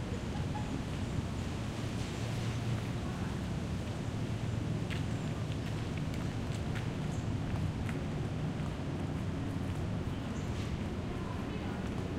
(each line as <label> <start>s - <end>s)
recently arrived spring migrants 0.0s - 12.1s
wind 0.0s - 12.1s